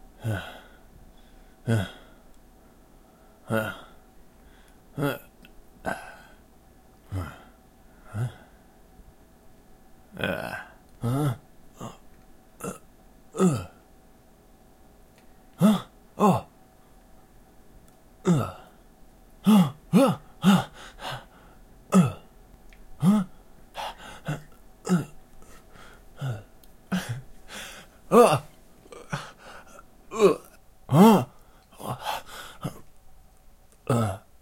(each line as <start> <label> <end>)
0.2 Grunts 0.8
0.2 Breaths 4.9
1.6 Grunts 2.2
3.4 Grunts 4.0
5.0 Grunts 6.4
7.0 Grunts 8.6
10.1 Grunts 12.0
12.6 Grunts 13.8
13.4 wince in pain 13.8
15.6 wince in pain 16.5
15.6 Grunts 16.5
18.2 Grunts 18.8
18.2 wince in pain 18.8
19.4 wince in pain 21.3
19.4 Grunts 22.3
20.4 Breaths 21.7
21.9 wince in pain 22.2
23.0 Grunts 32.9
23.0 Breaths 24.5
23.0 wince in pain 32.9
25.4 Breaths 28.0
29.0 Breaths 29.8
31.3 Breaths 32.9
33.8 Grunts 34.4